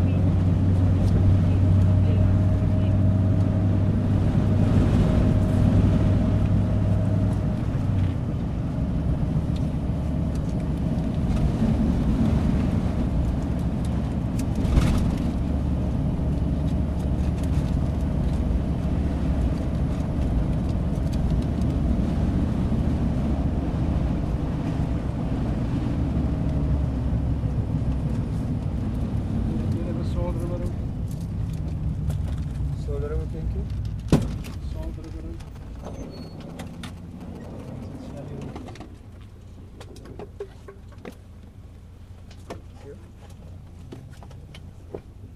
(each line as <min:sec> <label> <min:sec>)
0:00.0 combi taxi 0:45.3